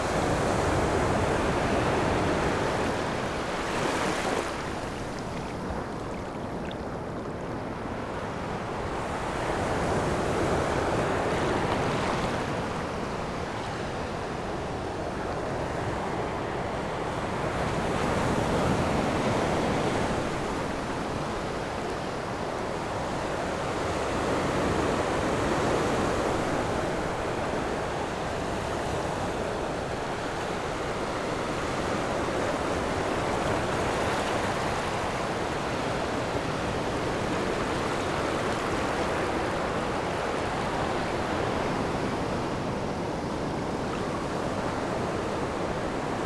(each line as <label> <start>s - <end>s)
waves 0.0s - 46.2s